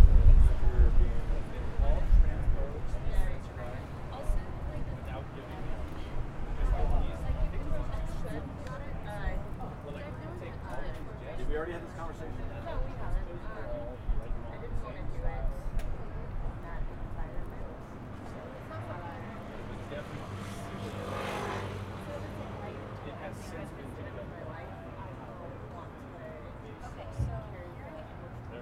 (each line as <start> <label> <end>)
0.0 conversation 28.6
16.4 Cars 25.8